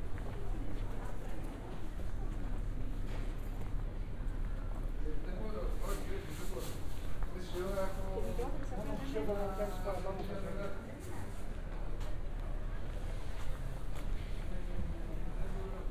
walking around narrow streets 0.0 - 15.9

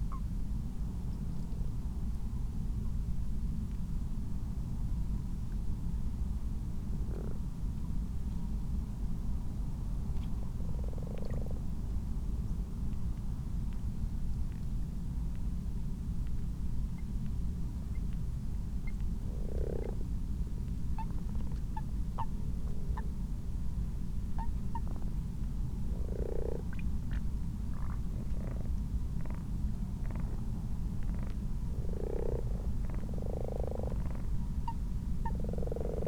common frogs 6.9 - 7.6
common frogs 10.2 - 11.9
common toads 10.3 - 11.7
common frogs 18.7 - 23.3
common toads 18.8 - 20.2
common frogs 24.2 - 36.0
common toads 25.7 - 36.0

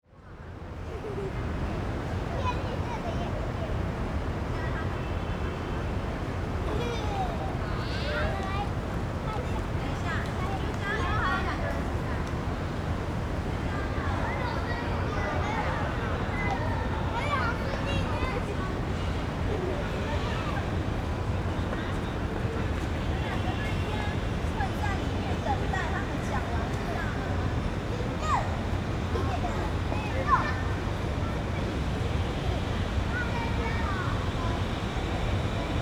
traffic sound 0.3 - 35.8
group of school children 0.9 - 35.8

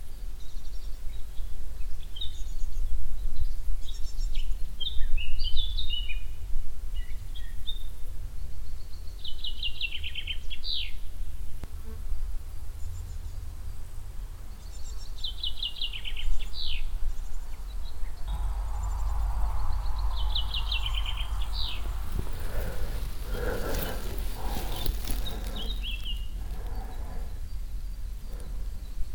crickets 0.0 - 29.1
traffic in the distance 11.6 - 29.1
birds 12.7 - 29.1
plane crossing the sky 18.3 - 25.8
dog breathing and passing 18.3 - 29.1

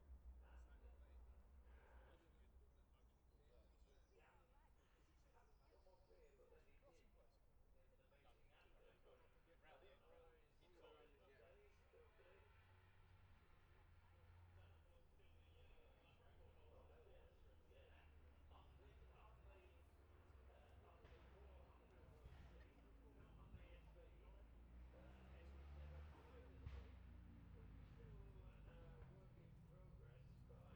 road racing 12.0 - 30.7

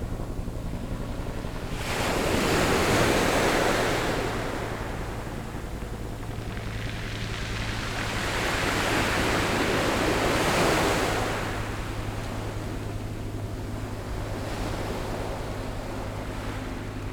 waves 0.0 - 17.1

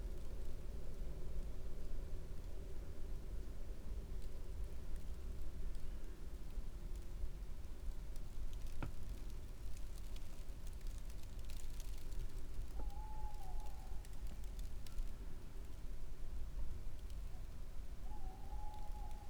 owl love calls 12.7 - 14.2
owl love calls 18.0 - 19.2

